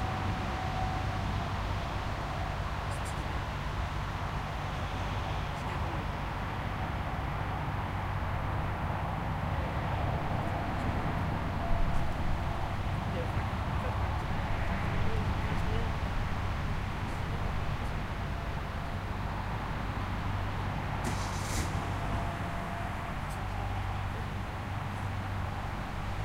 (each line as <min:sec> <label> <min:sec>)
0:00.0 parking cars 0:26.2
0:00.0 passing by cars 0:26.2
0:00.0 trucks 0:26.2
0:13.0 people voices 0:14.3